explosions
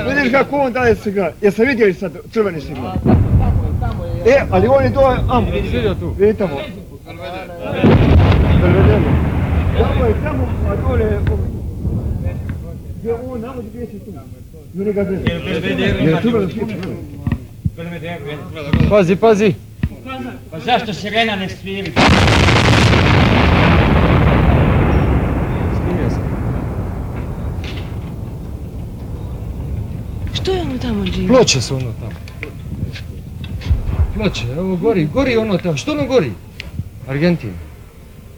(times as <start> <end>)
2.9 14.2, 22.0 35.4